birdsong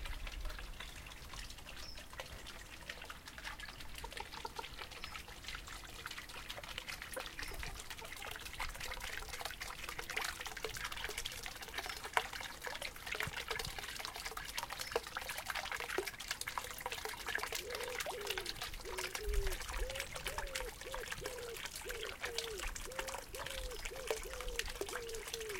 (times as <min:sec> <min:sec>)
0:17.6 0:25.5